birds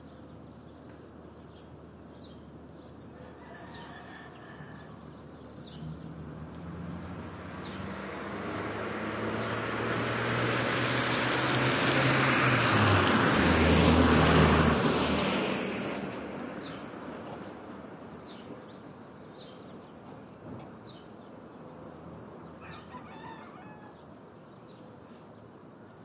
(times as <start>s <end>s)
0.0s 10.0s, 15.9s 26.0s